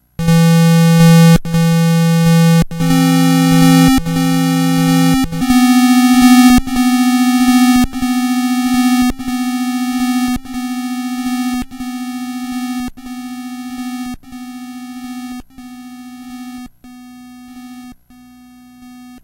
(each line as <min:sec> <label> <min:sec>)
0:00.2 Soundeffects recorded from the Atari ST 0:13.6